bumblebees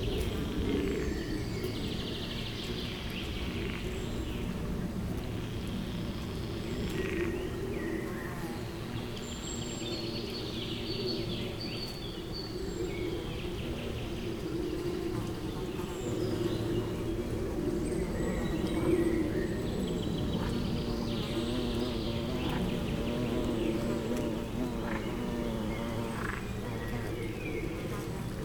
14.9 28.4

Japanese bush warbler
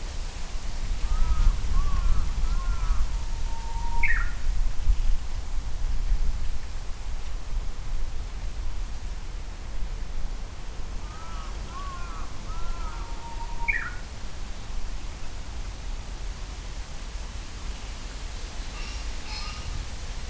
1.0 4.5, 11.1 14.1

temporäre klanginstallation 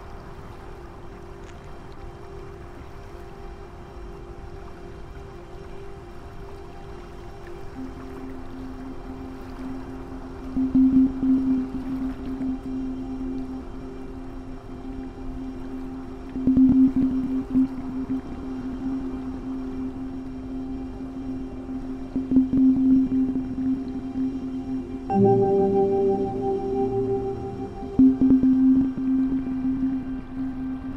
22.2 30.9

